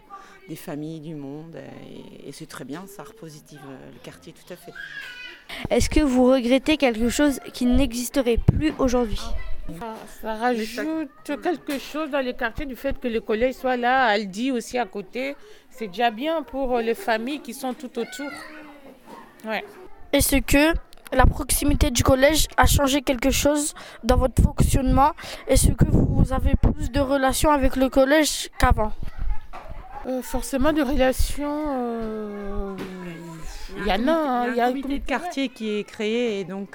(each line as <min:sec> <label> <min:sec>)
0:00.2 Interview 0:36.7